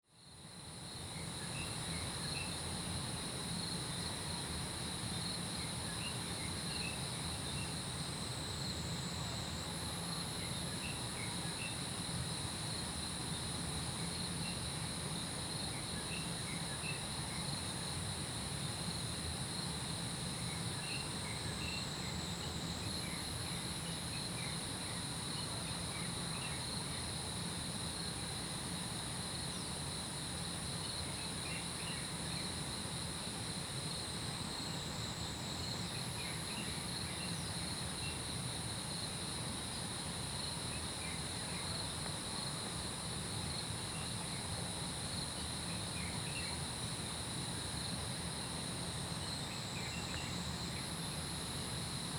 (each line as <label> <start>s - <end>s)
Insect sounds 0.2s - 52.1s